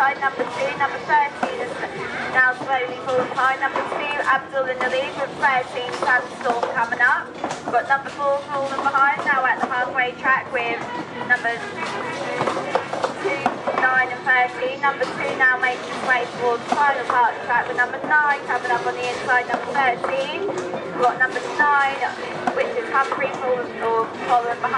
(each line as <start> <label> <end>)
0.0 Crowds 24.7